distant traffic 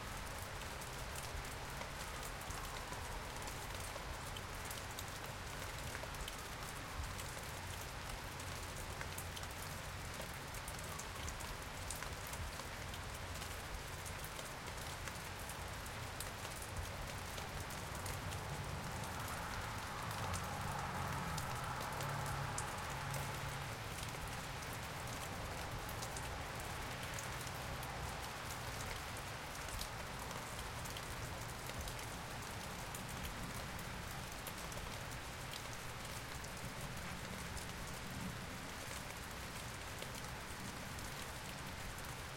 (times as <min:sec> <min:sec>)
0:16.0 0:29.5